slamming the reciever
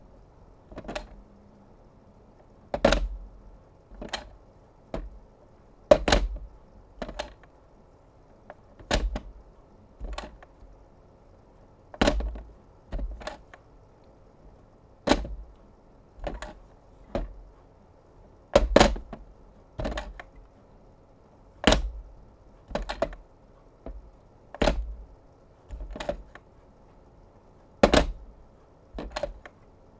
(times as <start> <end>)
24.6 25.0, 27.8 28.4